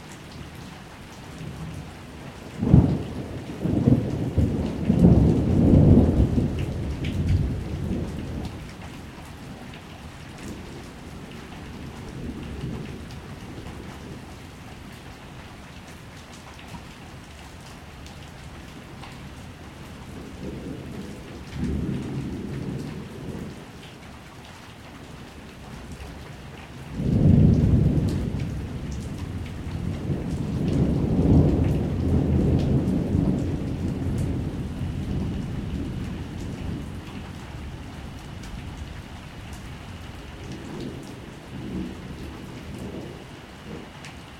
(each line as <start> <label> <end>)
2.5 rumbling thunder in the distance 8.7
20.0 rumbling thunder in the distance 23.6
26.9 rumbling thunder in the distance 39.0
40.0 rumbling thunder in the distance 44.0